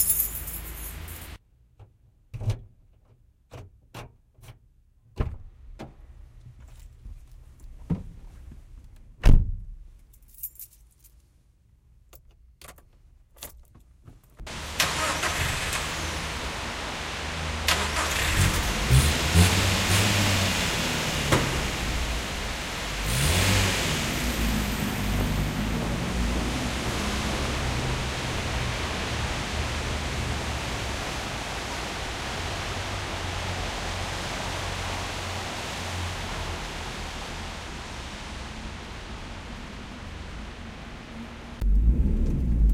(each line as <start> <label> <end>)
0.0 keys 1.4
12.1 keys 13.9
14.5 car start 30.7
41.5 car start 42.7